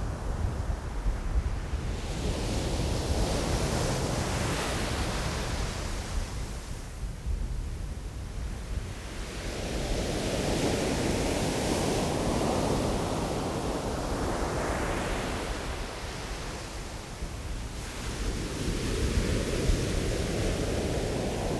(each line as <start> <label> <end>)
8.1 waves 21.5